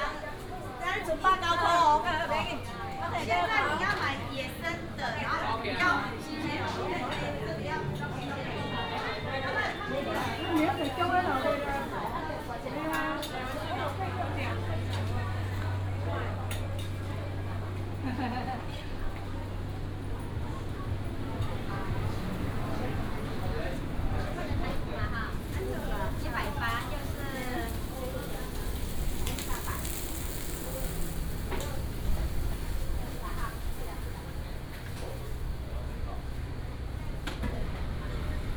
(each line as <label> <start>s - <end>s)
Walking through the market 0.0s - 38.5s
Traffic sound 14.0s - 38.5s